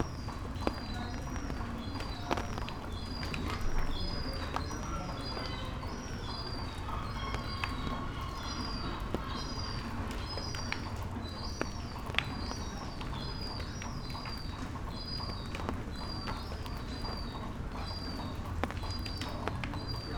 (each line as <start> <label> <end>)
0.0 rain 20.1
1.1 seagulls 11.0